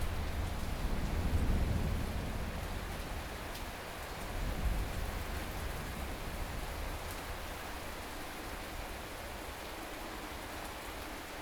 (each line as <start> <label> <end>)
0.0 Thunderstorm 7.0